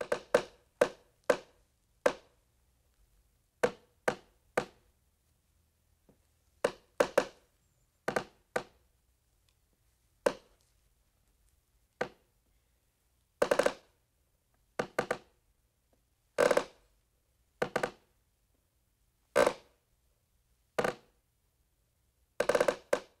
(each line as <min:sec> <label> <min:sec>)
0:00.0 wood that creaks 0:02.4
0:03.6 wood that creaks 0:04.8
0:06.6 wood that creaks 0:08.8
0:10.2 wood that creaks 0:10.5
0:13.4 wood that creaks 0:14.0
0:14.8 wood that creaks 0:15.4
0:16.4 wood that creaks 0:16.9
0:17.6 wood that creaks 0:18.1
0:19.4 wood that creaks 0:19.7
0:20.8 wood that creaks 0:21.1
0:22.4 wood that creaks 0:23.2